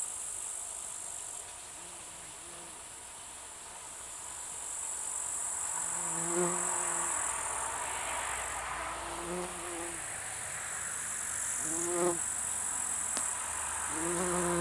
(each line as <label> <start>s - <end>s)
Bumblebee 1.5s - 3.0s
side creek 2.8s - 14.6s
Bumblebee 5.4s - 7.3s
Bumblebee 8.9s - 10.1s
Bumblebee 11.6s - 14.6s